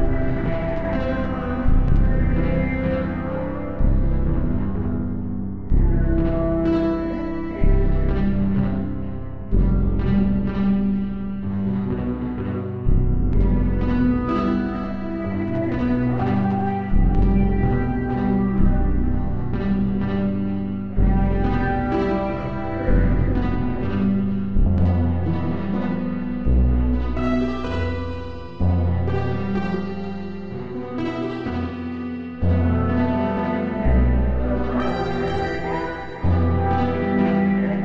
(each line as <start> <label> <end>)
0.0 choral 37.8
0.0 very simple accompanying bass 37.8